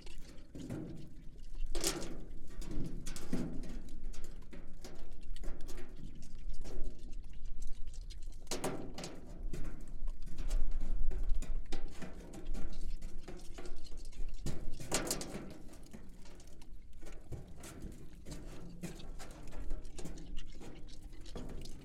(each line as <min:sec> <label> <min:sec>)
0:00.0 pigs chewing stones 0:21.8
0:08.7 drop and play with in their empty metal troughs 0:20.8